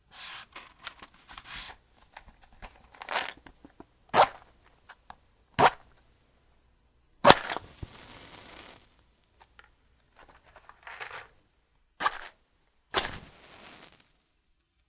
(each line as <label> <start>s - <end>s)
Opening a box of matches 7.2s - 7.7s
striking the match on the box 7.2s - 8.9s
Opening a box of matches 12.0s - 12.4s
striking the match on the box 12.0s - 12.4s
Opening a box of matches 13.0s - 13.4s
striking the match on the box 13.0s - 14.1s